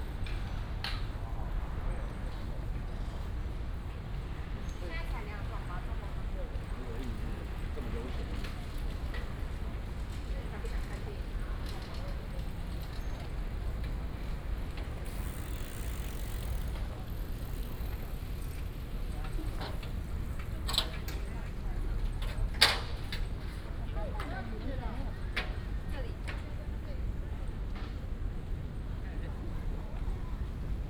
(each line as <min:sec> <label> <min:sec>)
0:08.4 Bicycle sound 0:22.2
0:08.7 Traffic Sound 0:21.0